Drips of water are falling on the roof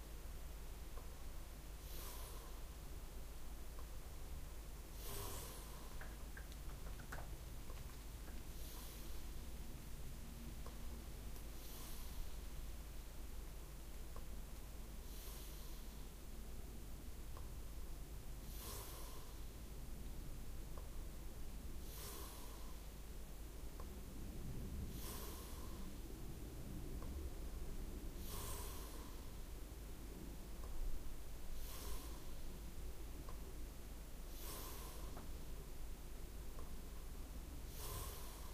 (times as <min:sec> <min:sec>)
0:06.0 0:08.4